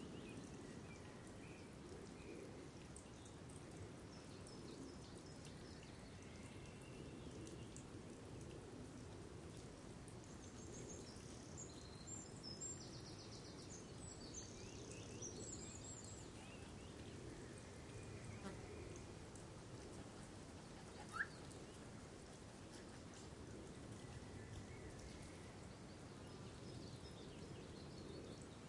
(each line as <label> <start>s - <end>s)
water 0.0s - 28.6s
birds 9.5s - 28.6s